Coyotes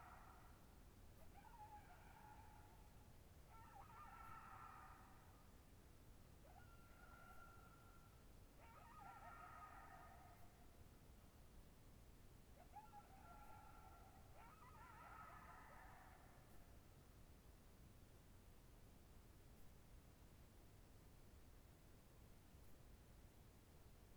0:00.0 0:05.7, 0:06.3 0:10.8, 0:12.5 0:17.0

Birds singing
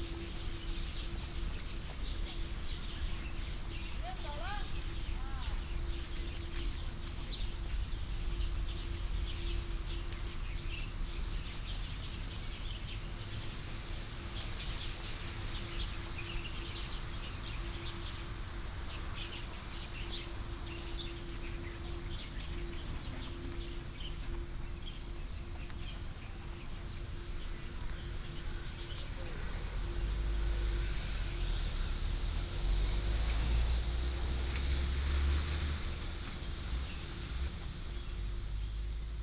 0:00.0 0:30.4

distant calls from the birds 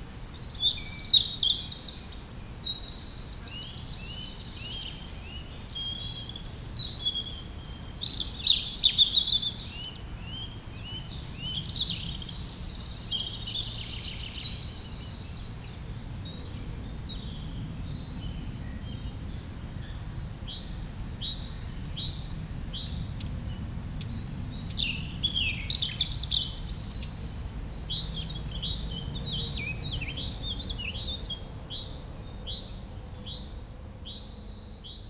0:00.0 0:23.3

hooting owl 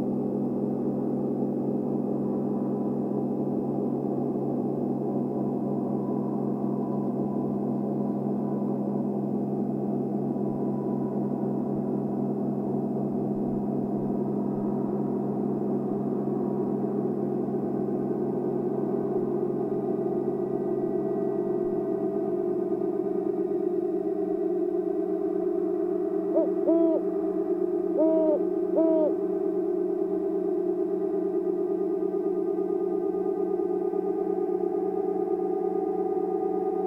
0:26.2 0:29.7

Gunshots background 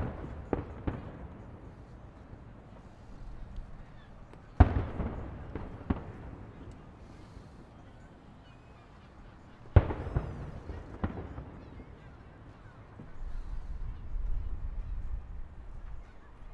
0:04.0 0:07.7, 0:09.8 0:13.2

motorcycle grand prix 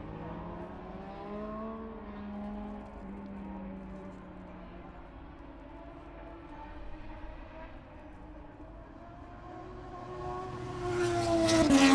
0:08.9 0:11.9

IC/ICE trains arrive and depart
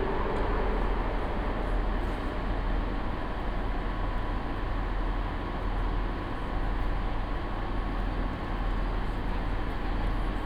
0:00.0 0:06.4

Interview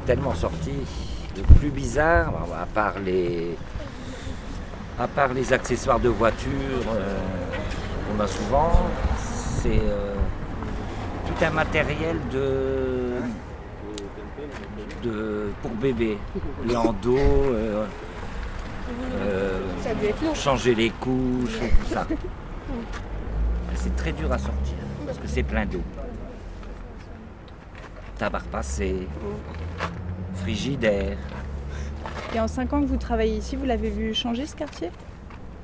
0:00.0 0:27.3

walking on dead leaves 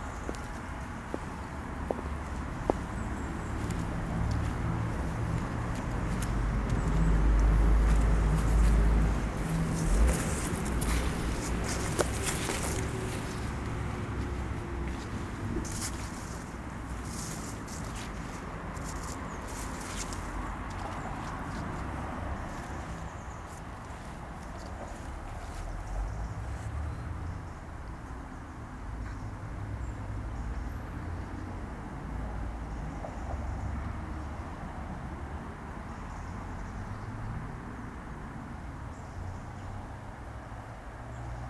0:00.0 0:26.8

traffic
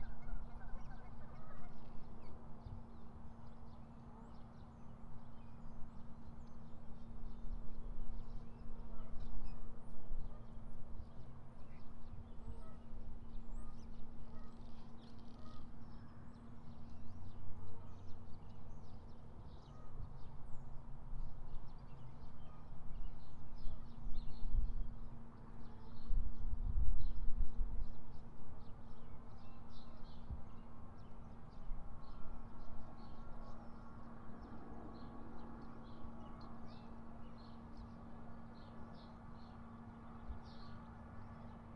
0:30.7 0:41.7

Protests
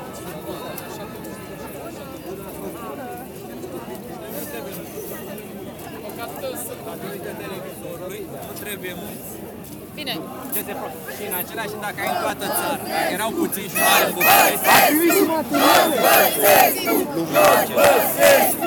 0:11.2 0:18.6

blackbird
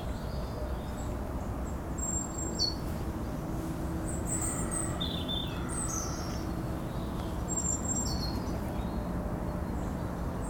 0:02.0 0:02.9, 0:04.1 0:10.4

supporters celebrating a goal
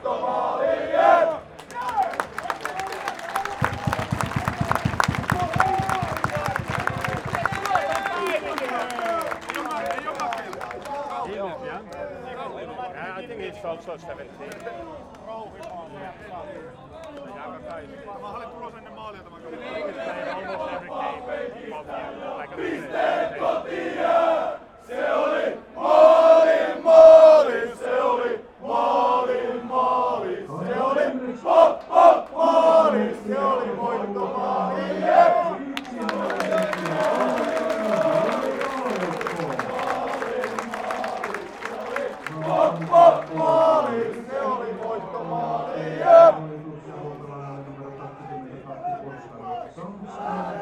0:00.0 0:12.2, 0:19.5 0:46.6

